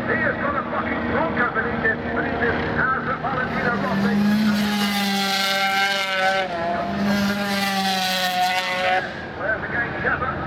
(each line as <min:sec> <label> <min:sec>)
0:00.0 500cc motorcycle race 0:10.4